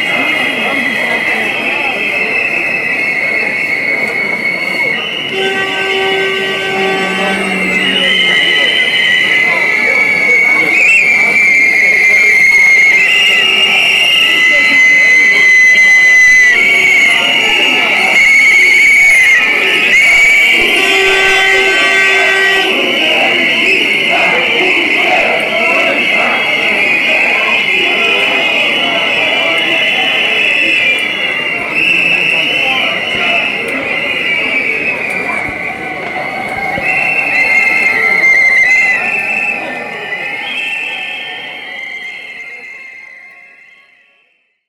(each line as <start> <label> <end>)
5.4 demands for demission of prime minister 8.7
5.4 Indian cries 9.0